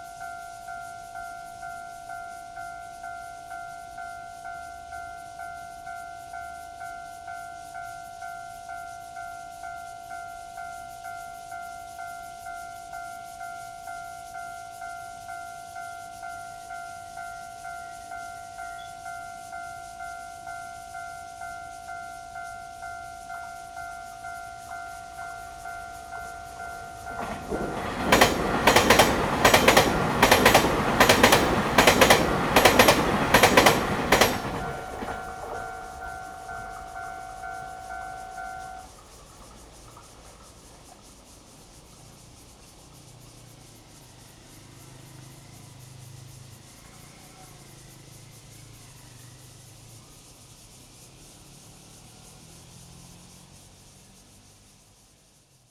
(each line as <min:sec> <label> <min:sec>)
0:00.0 The train runs through 0:55.7
0:00.0 Cicada cry 0:55.7
0:23.8 Traffic sound 0:54.7